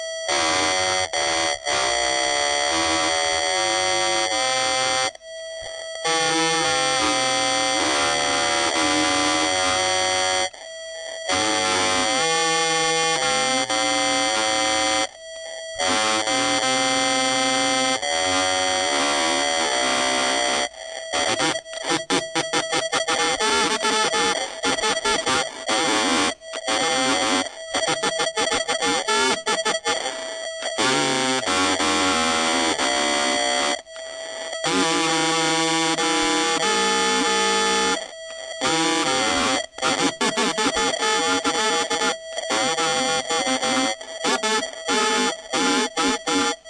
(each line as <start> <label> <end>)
20.2 radio messages 46.6
34.6 jammer 46.6